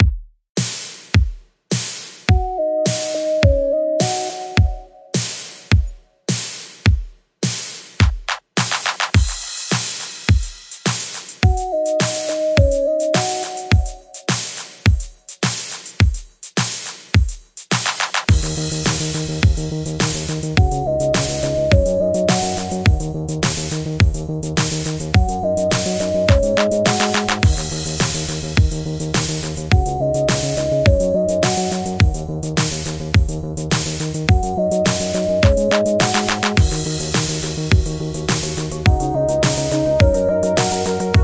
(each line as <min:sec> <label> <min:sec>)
0:00.0 Drums 0:41.2
0:18.3 Synth 0:24.2
0:18.3 Bass 0:41.2
0:25.1 Synth 0:32.3
0:34.3 Synth 0:41.2